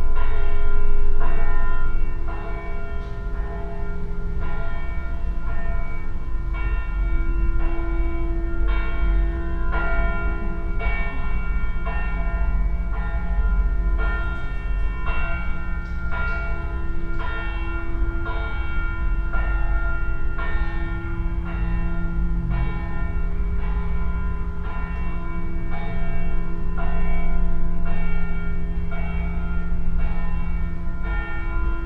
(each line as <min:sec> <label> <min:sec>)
0:00.0 church bells 0:31.8